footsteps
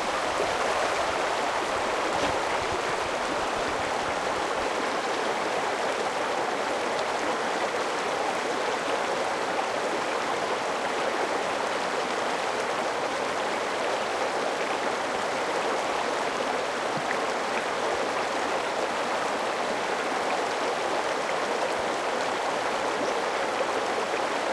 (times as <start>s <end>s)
1.6s 3.2s